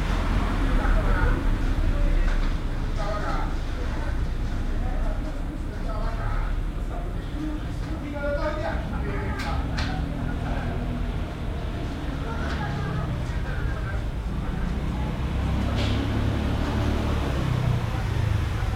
0.0s voices 18.7s

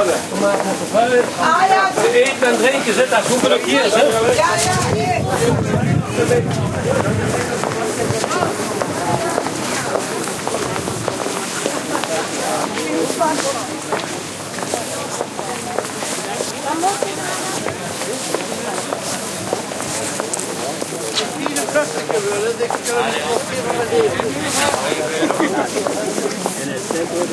0.0s footsteps 27.3s
4.0s wind noise 11.4s

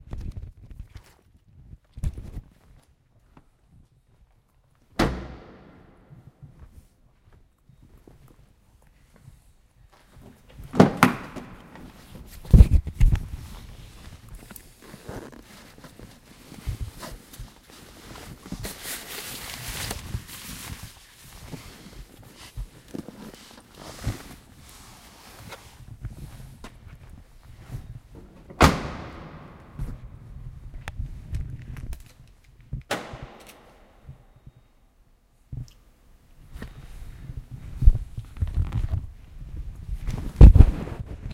5.0s slamming the door of a car 5.9s
28.6s slamming the door of a car 29.8s

